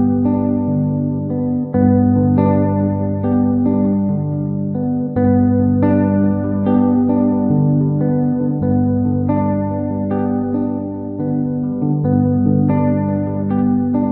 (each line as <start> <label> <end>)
0.0 Guitar 14.1